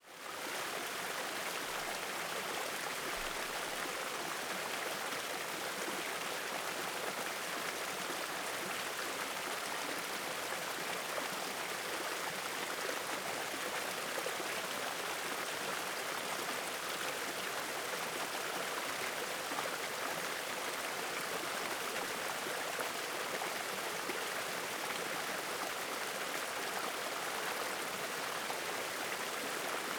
Small waterfall 0.0 - 29.9

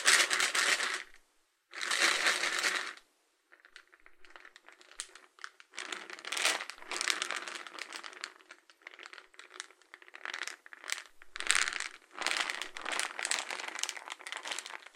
Hazelnuts shaking and rolling in a cylindric plastic box 0.0 - 1.1
Hazelnuts shaking and rolling in a cylindric plastic box 5.8 - 14.9

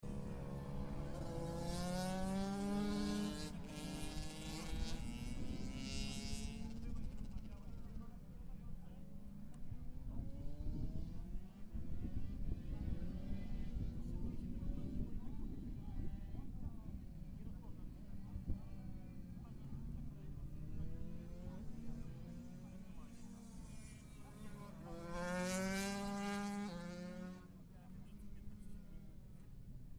motorcycle 0.0 - 29.9

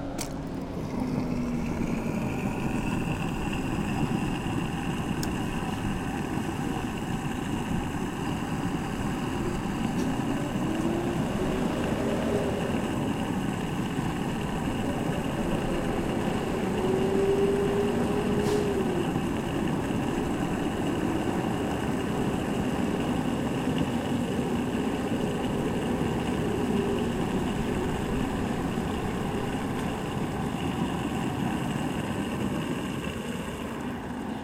Gas pumping 0.0 - 34.4

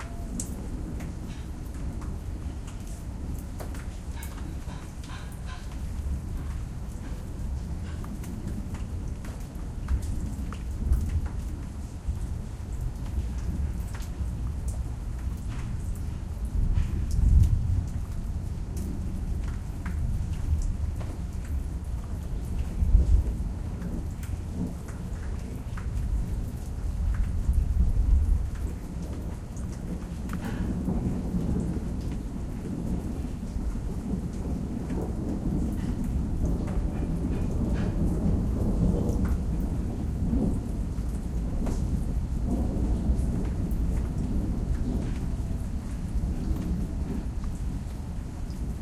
thunder 0.0 - 48.8

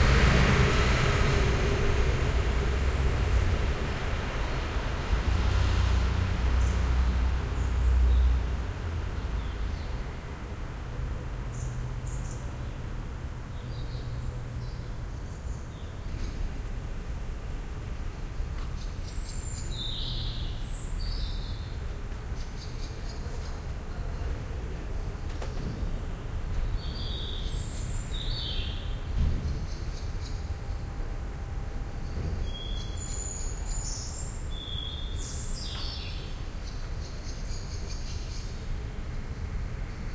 cars driving over the cobbled street 0.0 - 22.6

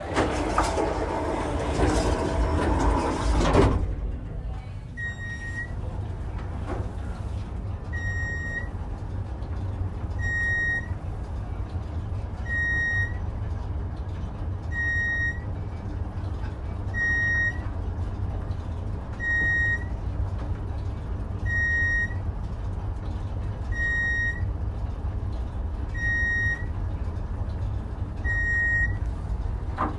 Elevator doors closing 0.0 - 29.9
riding up several floors 0.0 - 29.9

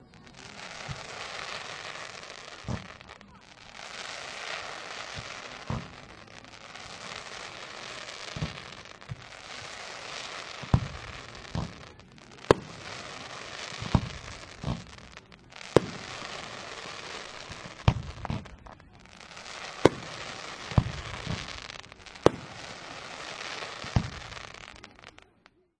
crowd reactions 0.0 - 25.3
Blasts 0.0 - 25.3
sparkles 0.0 - 25.6

